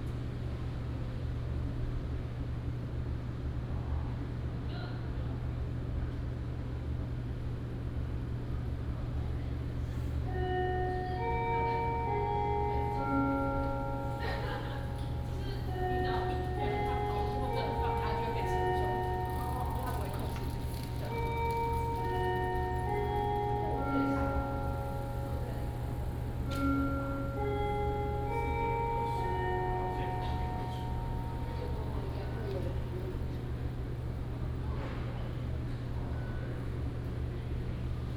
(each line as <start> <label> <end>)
10.4 Bell sound 33.6
11.3 Bicycle sound 34.2